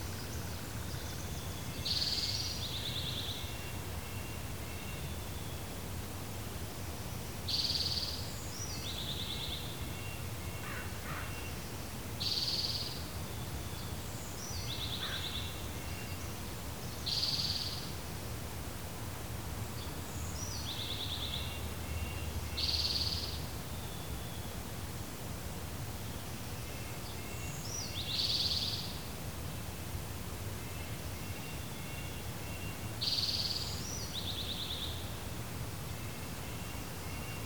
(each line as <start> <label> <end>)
10.6 crows 11.4